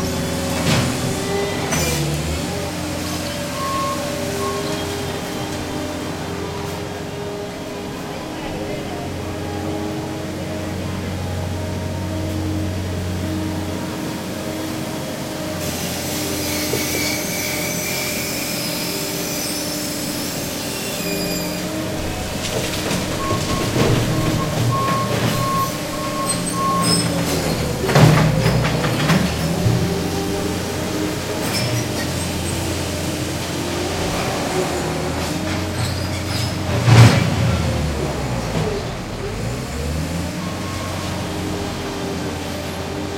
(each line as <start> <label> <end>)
0.0 construction mini backhoe 43.1